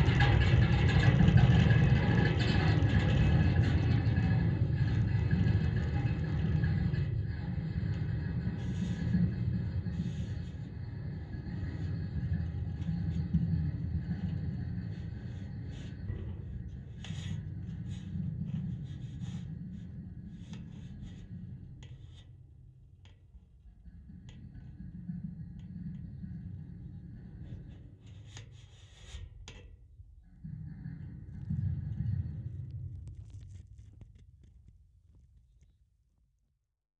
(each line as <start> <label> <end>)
24.2 trailing a stick along the fence 29.7